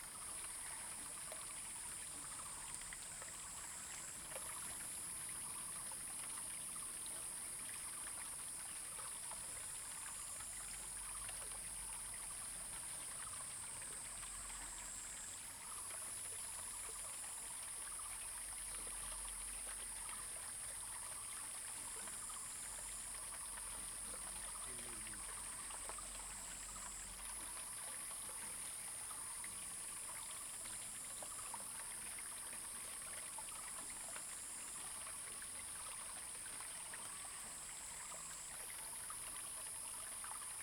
Stream 0:00.0 - 0:40.6
Frogs sound 0:09.2 - 0:40.6

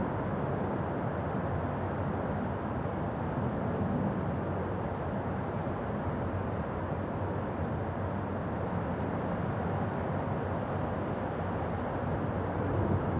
Wind from Inside 0:00.0 - 0:13.1

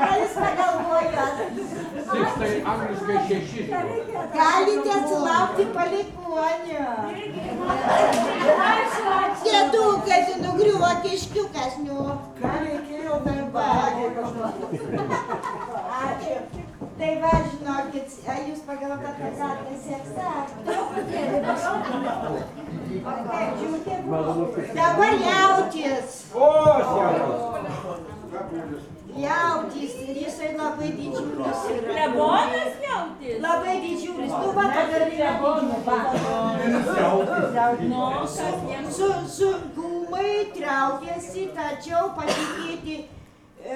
drunken crowd 0:00.0 - 0:43.7

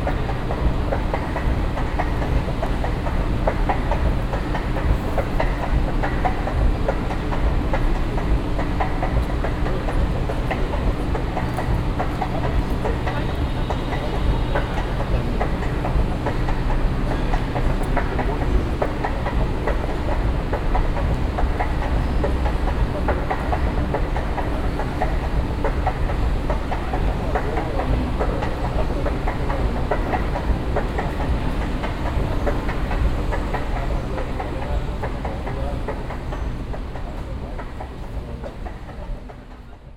moving staircases leading to the basement entry of a store 0:00.0 - 0:39.9

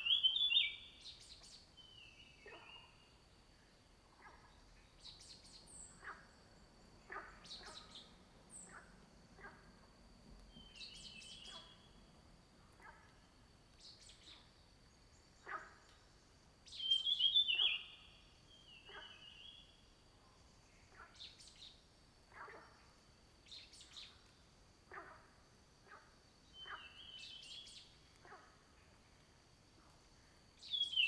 Frogs chirping 0:04.1 - 0:16.0
Frogs chirping 0:16.6 - 0:19.4
Frogs chirping 0:25.9 - 0:28.6

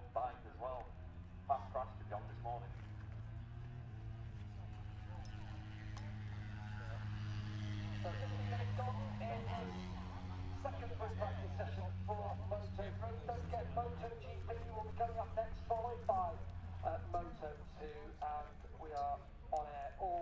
british motorcycle grand prix 0:00.0 - 0:20.2

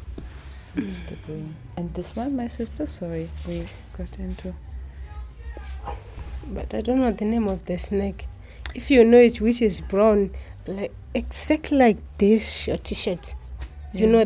Barbara and Viola talk 0:00.7 - 0:14.2

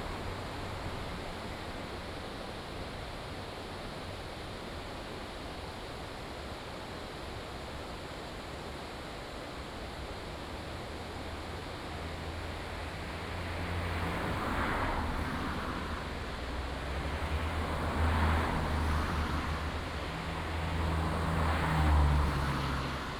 traffic sounds 0:11.3 - 0:23.1

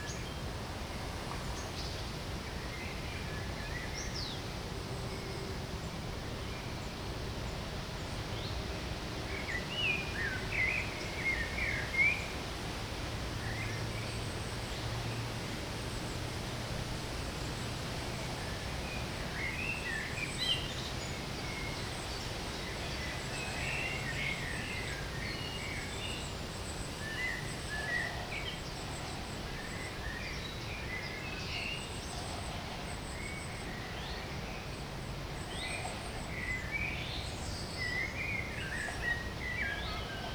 river 0:00.0 - 0:40.3

